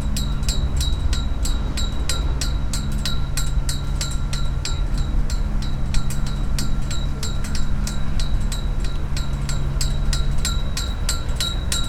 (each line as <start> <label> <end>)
0.0 steel ropes drumming on flag poles in the wind 11.8